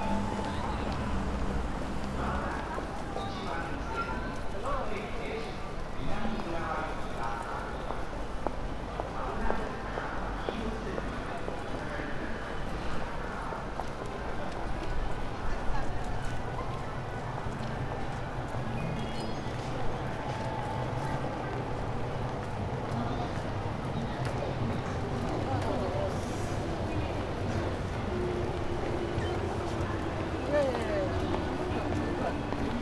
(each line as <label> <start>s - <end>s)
trains swishing above 0.0s - 2.4s
people walking out of the station 0.0s - 32.8s